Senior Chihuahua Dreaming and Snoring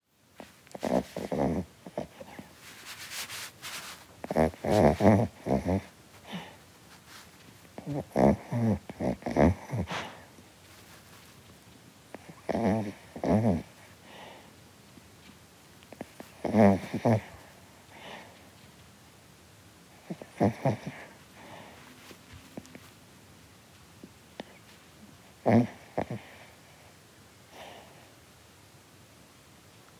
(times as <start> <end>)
0.4 2.6, 3.9 6.6, 7.8 10.3, 12.1 14.5, 15.9 18.4, 19.9 21.9, 25.3 26.9